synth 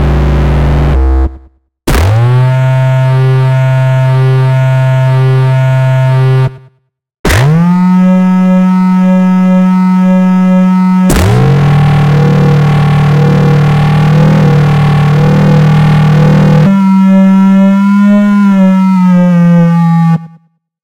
0.0s 1.5s, 7.8s 20.2s

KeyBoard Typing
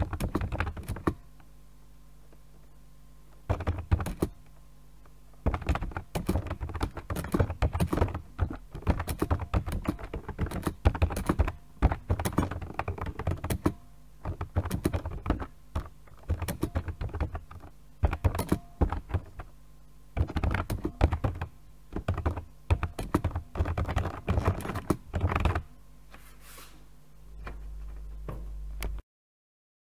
0.0s 1.2s, 3.5s 4.5s, 5.4s 19.5s, 20.2s 25.7s

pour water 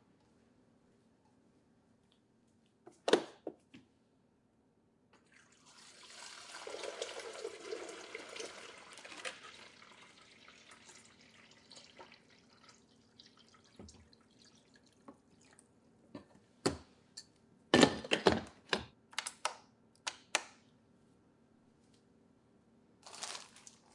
5.2s 15.7s

